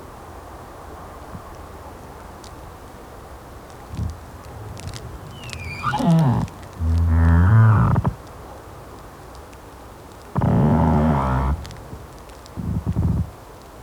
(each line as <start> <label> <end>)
3.9 pine-tree speaks and moans in a small wind 8.2
10.4 pine-tree speaks and moans in a small wind 12.0
12.6 pine-tree speaks and moans in a small wind 13.4